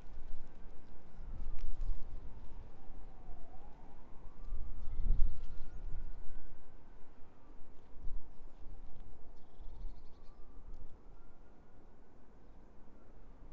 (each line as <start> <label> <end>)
0.0 distant trains 4.4
0.0 wind moving through the ivy 13.5
5.6 distant trains 13.5
9.4 birds 10.6